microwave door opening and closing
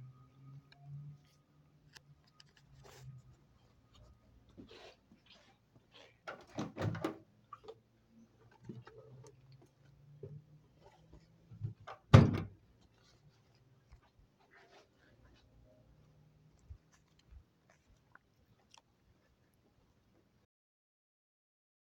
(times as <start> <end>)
6.3 7.2, 12.0 12.6